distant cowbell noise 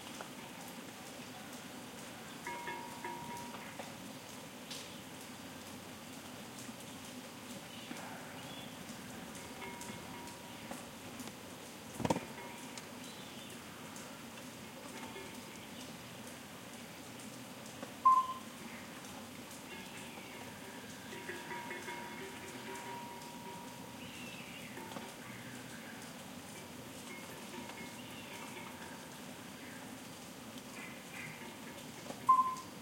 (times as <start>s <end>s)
2.4s 3.8s, 9.2s 10.8s, 12.0s 13.0s, 14.8s 15.6s, 18.0s 18.6s, 19.6s 25.6s, 26.5s 29.3s, 31.1s 32.8s